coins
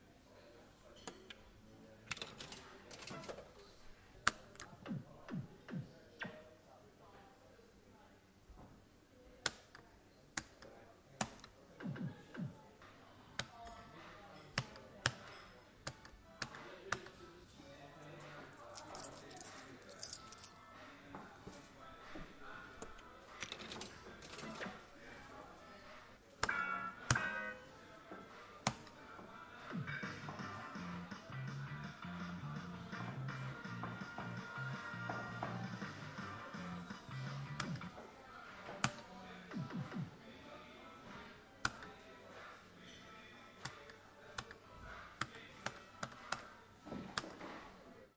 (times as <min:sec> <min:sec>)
0:18.7 0:20.6